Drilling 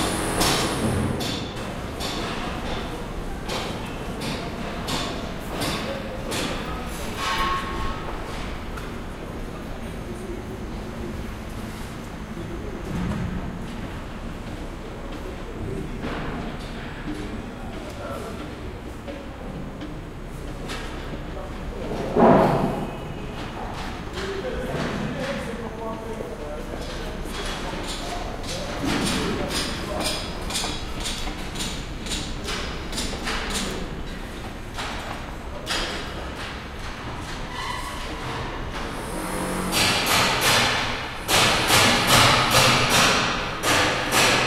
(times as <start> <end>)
0.0 1.1